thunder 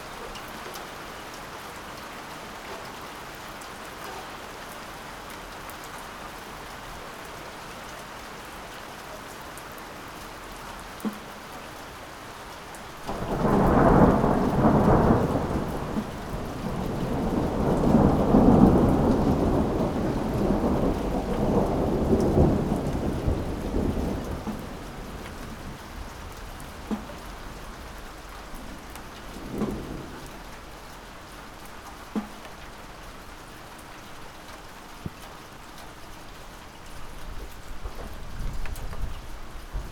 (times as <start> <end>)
13.0 27.4, 28.6 30.6